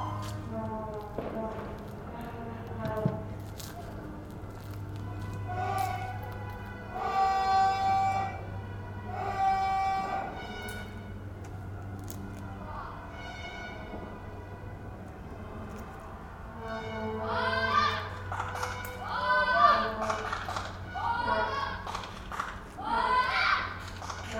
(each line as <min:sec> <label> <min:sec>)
0:00.0 Vuvuzelas 0:24.3
0:00.2 fireworks 0:04.5
0:06.9 shouts, screams 0:08.4
0:09.1 shouts, screams 0:10.5
0:17.2 shouts, screams 0:18.2
0:18.9 shouts, screams 0:20.0
0:20.9 shouts, screams 0:21.9
0:22.8 shouts, screams 0:23.8